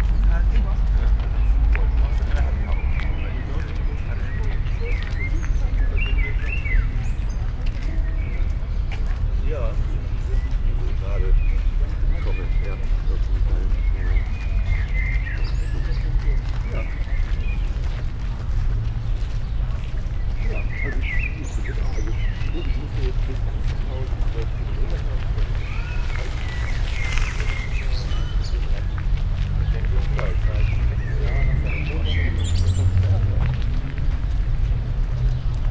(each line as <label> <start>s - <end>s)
bikers 0.0s - 35.7s
blackbirds 0.0s - 35.7s
slow walk on sandy pathway 0.0s - 35.7s
joggers 0.9s - 35.7s